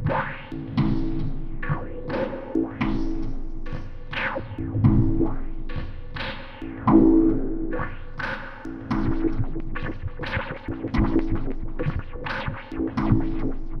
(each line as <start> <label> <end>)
0.0 filtered machine rhythm 13.8